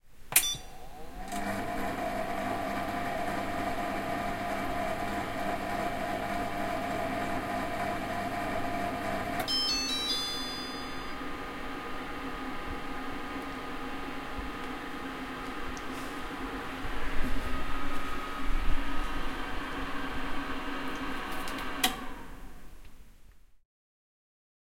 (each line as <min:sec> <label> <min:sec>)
0:00.3 multifunction kitchen machine 0:11.3
0:09.5 iddle beep sound 0:11.2
0:20.9 on/off clicks 0:22.1